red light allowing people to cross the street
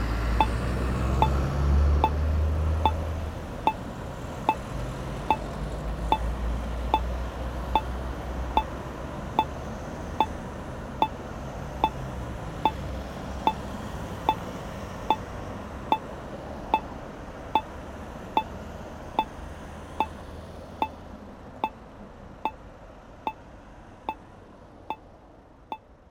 0:00.0 0:04.7

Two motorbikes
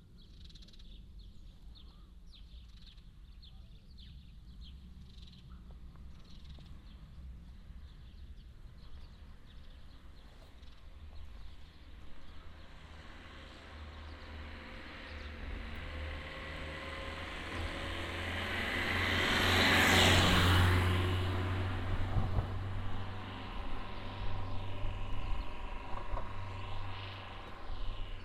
0:10.4 0:28.2

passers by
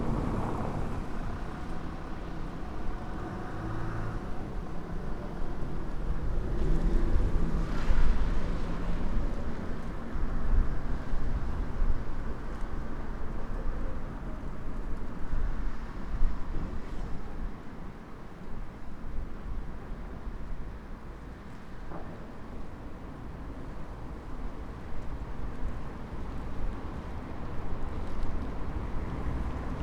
0:00.0 0:10.1

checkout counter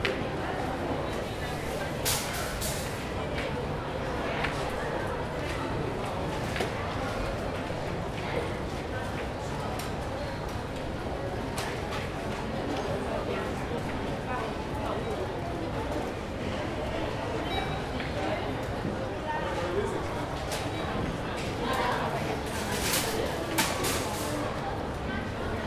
0:00.6 0:03.6, 0:21.5 0:25.1

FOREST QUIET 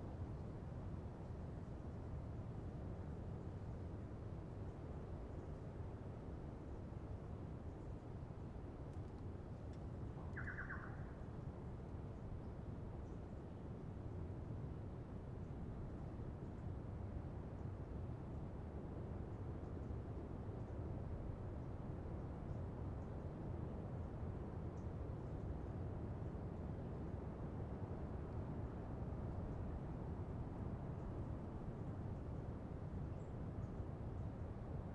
0:00.0 0:14.0, 0:28.1 0:34.9

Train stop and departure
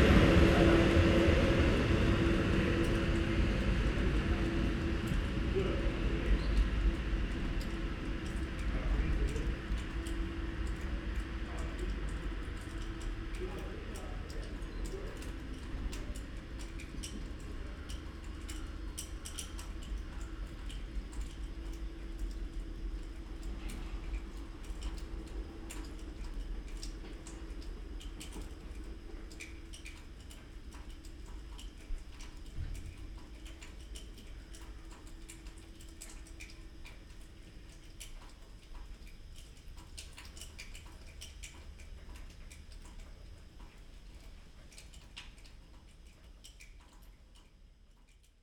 0:00.0 0:21.4

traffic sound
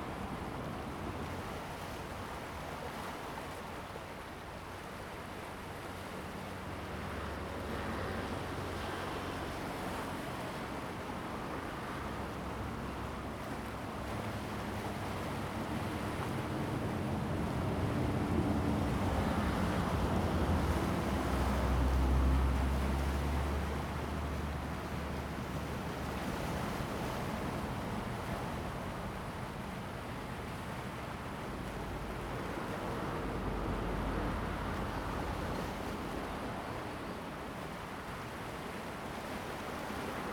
0:31.6 0:37.0

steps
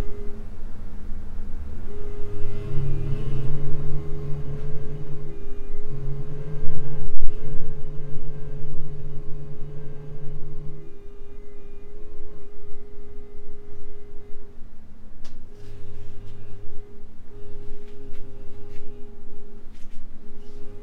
0:17.7 0:19.0, 0:19.7 0:20.7

